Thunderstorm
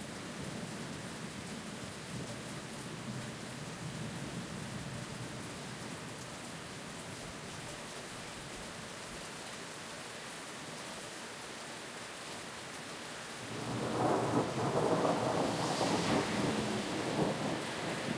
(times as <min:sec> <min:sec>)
0:13.5 0:18.1